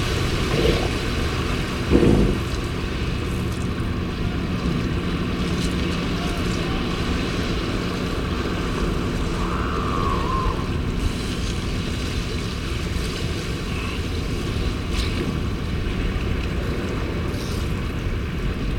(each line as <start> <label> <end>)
0.0 elephant seal mothers and pups 3.4
12.9 elephant seal mothers and pups 17.8